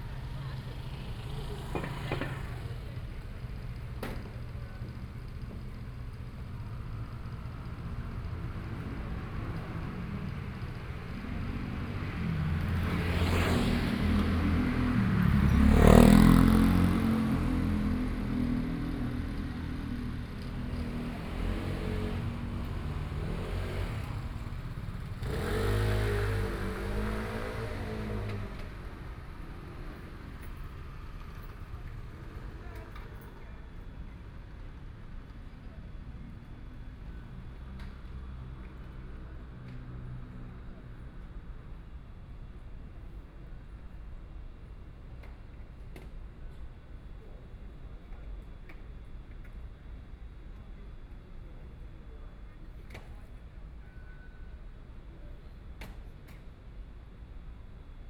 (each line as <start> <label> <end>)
0.0 Traffic Sound 45.2